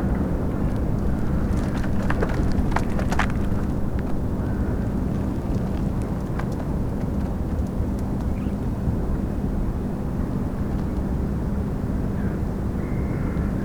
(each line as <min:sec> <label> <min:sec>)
0:00.0 cracking ice of the frozen spree river 0:09.0
0:12.2 crows 0:13.6